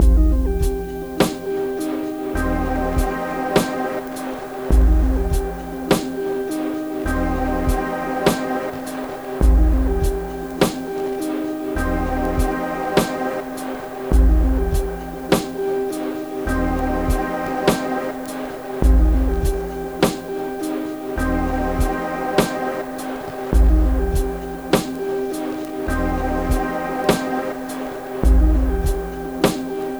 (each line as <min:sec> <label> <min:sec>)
0:00.0 electronic intro music 0:29.9